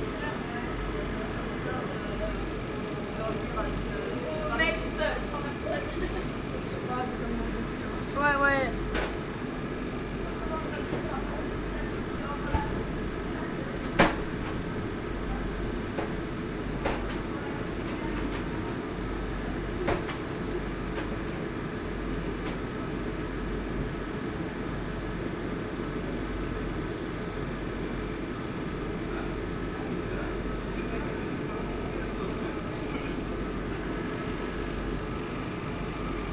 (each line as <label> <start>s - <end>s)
train is leaving 0.0s - 36.3s